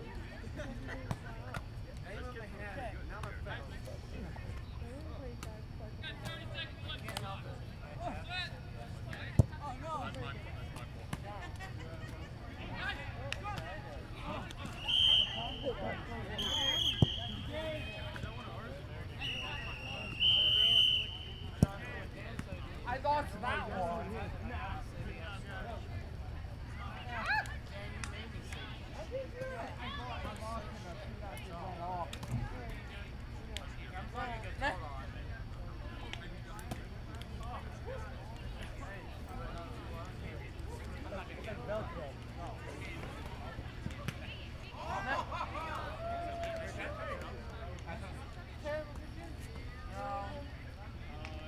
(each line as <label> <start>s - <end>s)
Flag Football Game 0.0s - 51.4s